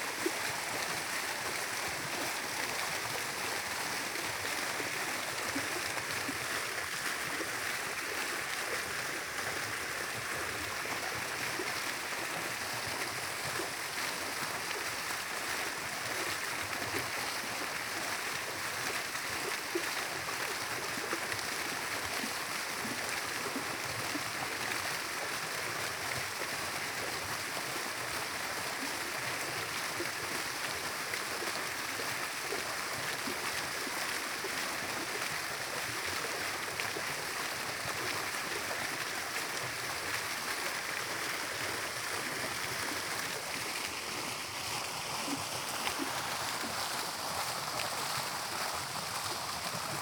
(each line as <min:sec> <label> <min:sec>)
0:00.0 fountain 0:50.0